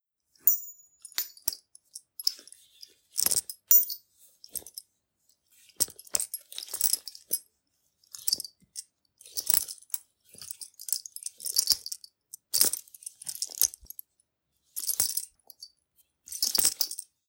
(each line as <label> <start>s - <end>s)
keys 0.4s - 1.6s